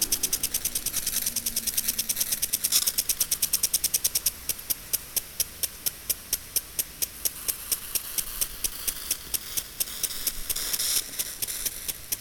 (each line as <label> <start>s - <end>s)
Lawn sprinkler 4.8s - 12.2s